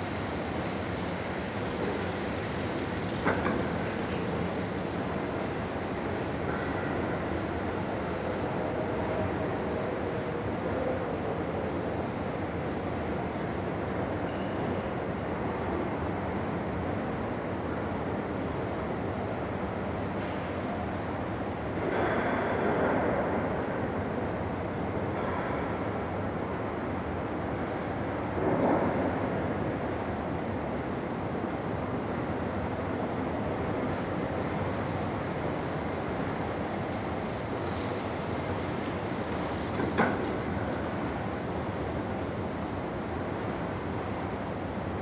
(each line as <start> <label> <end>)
0.0 Bicycles 12.8
0.0 rumble from the escalators 45.0
33.2 Bicycles 45.0